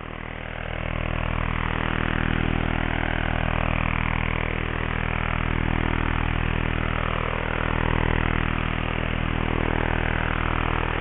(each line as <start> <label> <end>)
0.0 radiostorm, statics 11.0